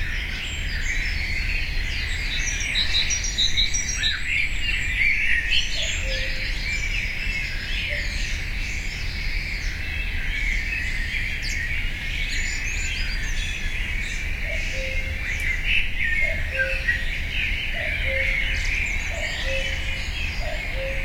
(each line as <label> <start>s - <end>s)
cuckoo 5.6s - 6.6s
cuckoo 14.4s - 17.1s
cuckoo 17.7s - 21.0s